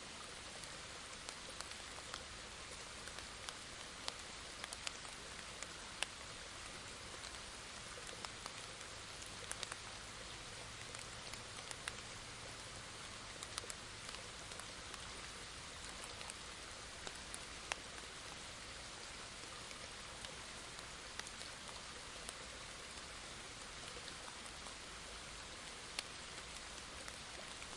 medium stream 0:00.0 - 0:27.7

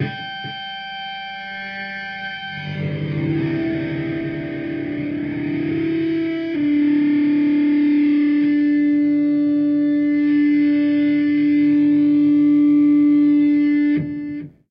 Harmonic struck 0:00.0 - 0:07.7
Pitched feedback with mid-harmonic drones 0:00.0 - 0:14.4

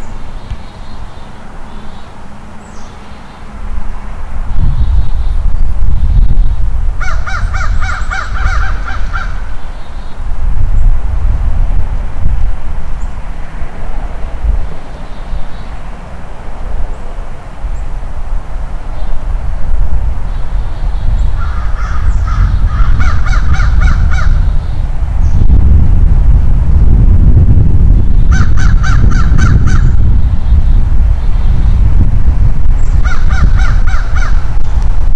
distant traffic noise 0:00.0 - 0:26.9
wind 0:00.0 - 0:35.1
Crows Calling 0:07.0 - 0:10.2
Crows Calling 0:21.3 - 0:24.8
distant traffic noise 0:27.5 - 0:35.1
Crows Calling 0:28.3 - 0:30.0
Crows Calling 0:33.0 - 0:34.6

